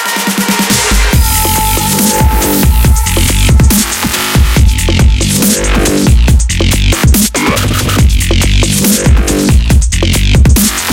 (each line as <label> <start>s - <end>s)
Bass 0.0s - 10.9s
Melody 1.1s - 7.0s